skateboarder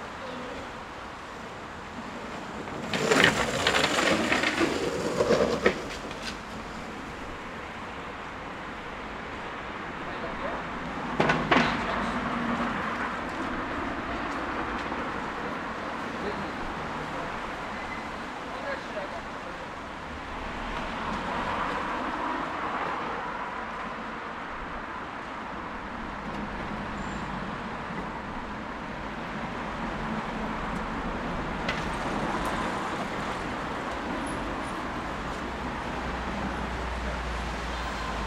1.8s 7.6s, 29.4s 38.2s

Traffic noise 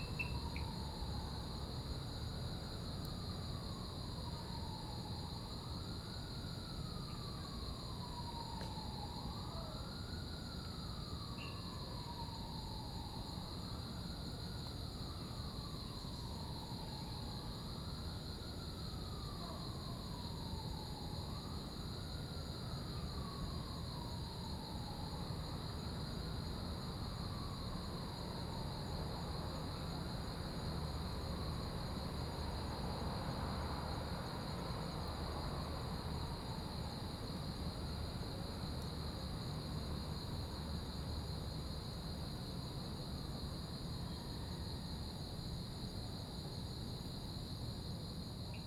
28.7s 42.6s

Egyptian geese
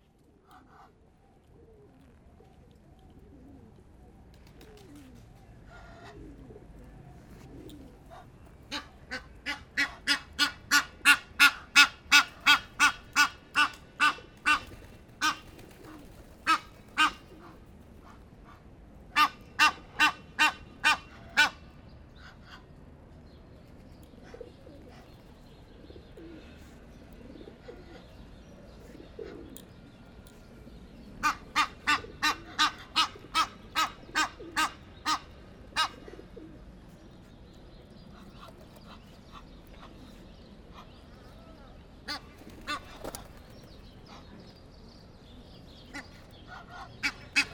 0.4s 1.0s, 7.3s 21.6s, 31.2s 36.3s, 45.8s 47.5s

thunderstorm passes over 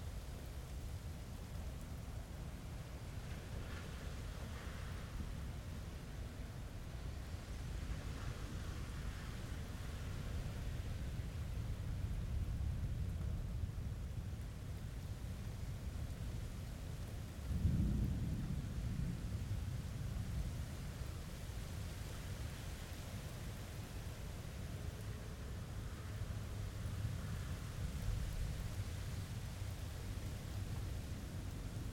17.4s 22.4s

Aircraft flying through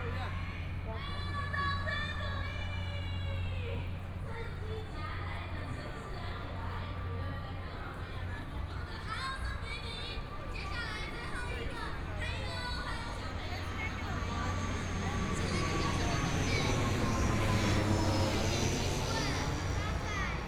11.7s 20.4s

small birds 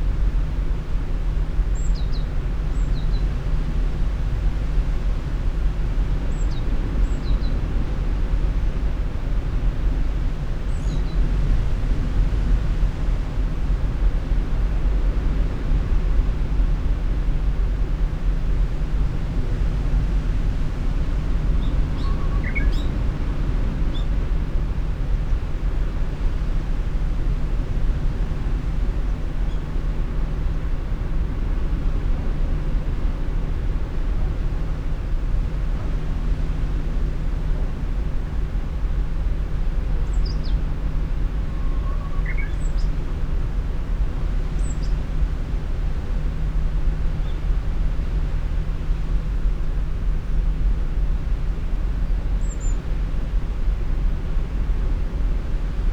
21.6s 23.0s, 41.4s 43.1s, 44.6s 45.0s, 52.4s 52.9s

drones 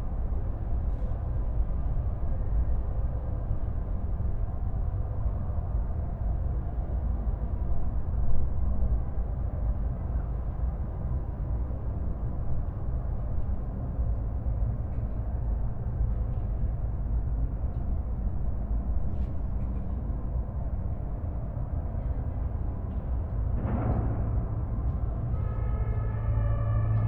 23.3s 27.0s

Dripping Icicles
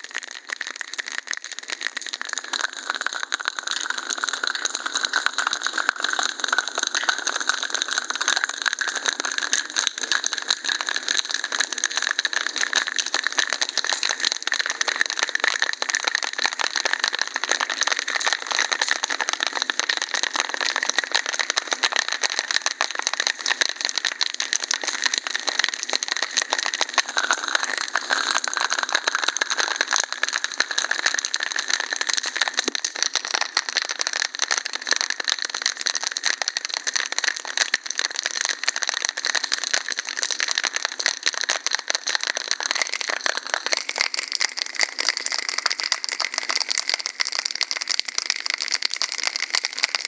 22.5s 34.3s

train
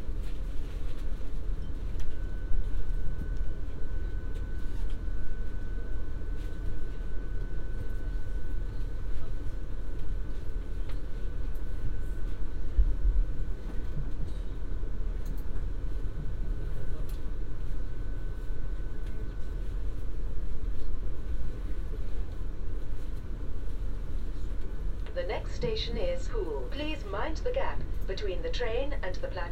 0.0s 2.7s

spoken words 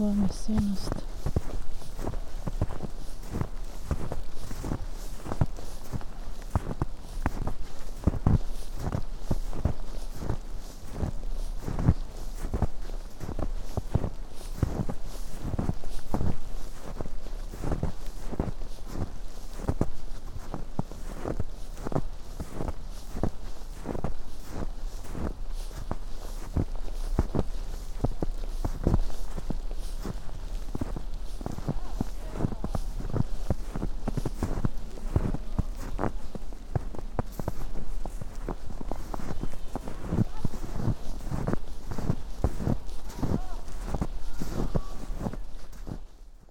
0.0s 1.0s, 31.7s 32.9s, 43.3s 45.1s

